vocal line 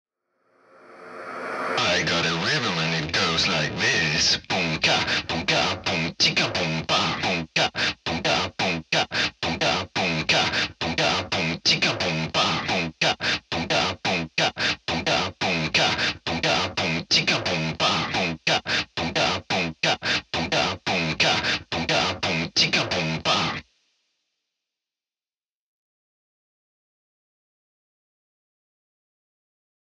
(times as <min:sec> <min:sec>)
0:01.0 0:23.6